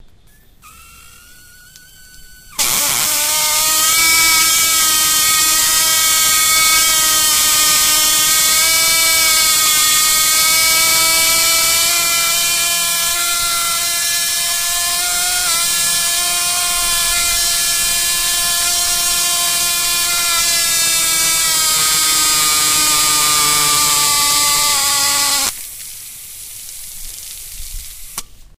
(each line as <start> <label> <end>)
0.6 hose sprayer 28.5